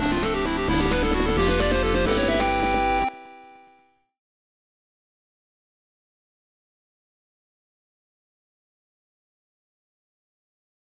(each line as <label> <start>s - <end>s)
Fight Win Tune 0.0s - 3.6s